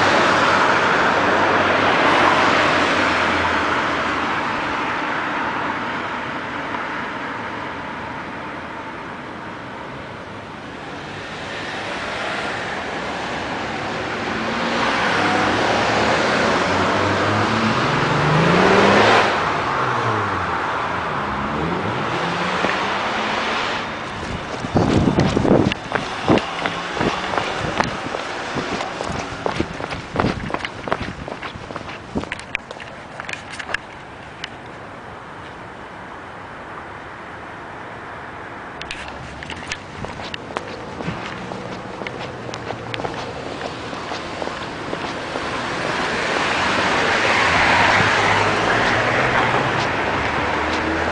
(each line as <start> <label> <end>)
0.0 traffic 51.1
24.0 footprints 34.1
38.8 footprints 51.1